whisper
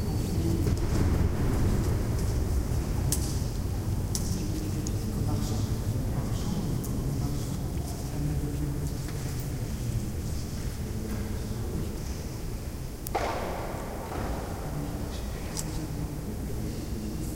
0:00.0 0:01.8, 0:03.7 0:12.4, 0:14.2 0:17.3

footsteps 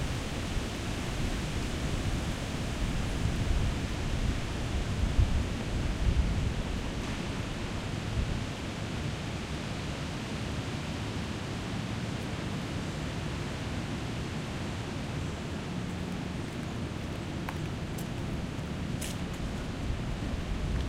0:15.9 0:20.0

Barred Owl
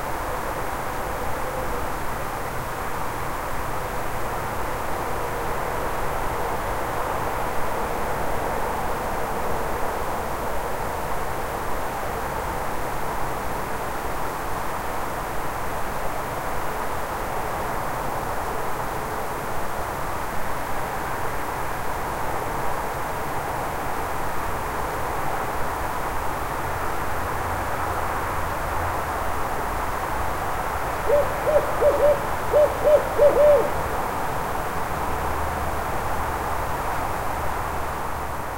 0:31.0 0:33.8

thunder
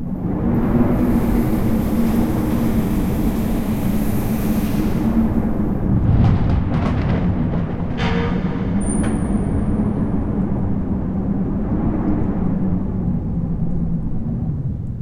0:05.0 0:13.0

